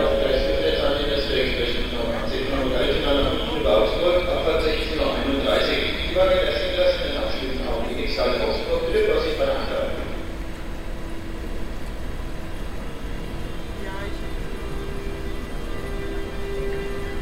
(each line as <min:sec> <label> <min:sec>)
0:00.0 announcements 0:17.2